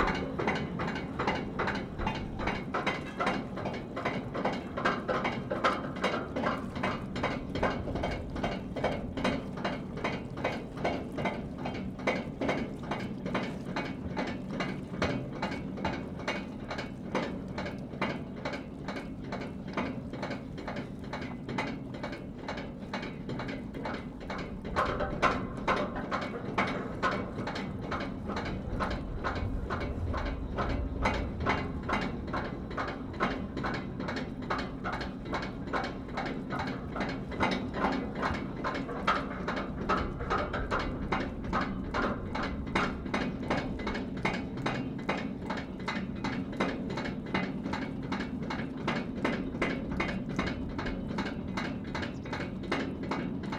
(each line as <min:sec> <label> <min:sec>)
0:00.0 Ferry travelling across the river 0:53.5